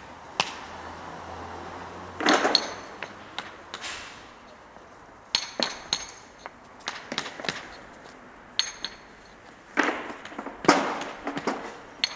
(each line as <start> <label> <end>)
2.2 puts them on a barrow and unloads on the ground 12.1